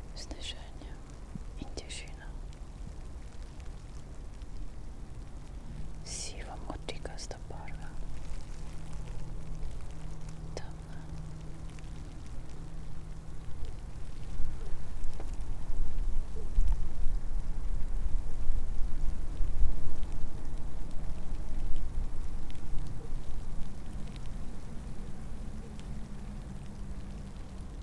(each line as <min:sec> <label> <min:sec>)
0:00.0 light snow 0:27.8
0:00.0 wind 0:27.8
0:00.0 spoken words and whisperings 0:02.6
0:06.0 spoken words and whisperings 0:08.1
0:10.5 spoken words and whisperings 0:11.4